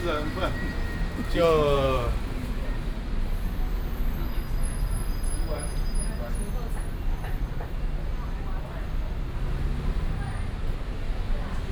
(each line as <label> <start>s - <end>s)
Traffic Sound 0.0s - 2.9s